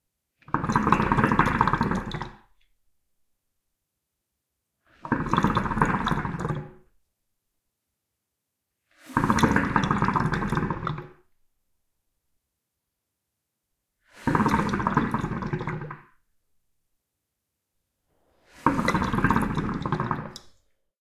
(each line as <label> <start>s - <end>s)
Hookah bubling 0.5s - 2.5s
Hookah bubling 5.0s - 6.9s
Hookah bubling 9.1s - 11.2s
Hookah bubling 14.2s - 16.2s
Hookah bubling 18.4s - 20.8s